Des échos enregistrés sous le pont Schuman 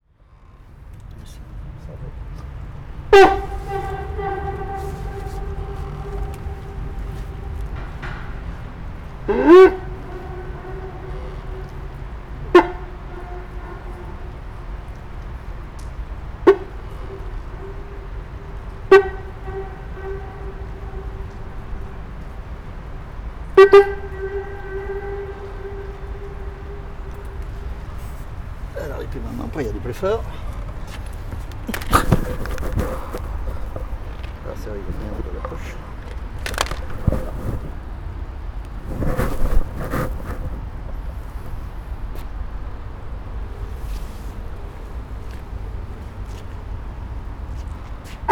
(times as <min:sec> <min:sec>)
0:23.6 0:37.9